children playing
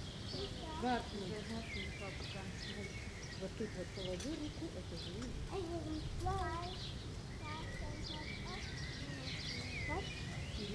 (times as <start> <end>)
5.4 10.7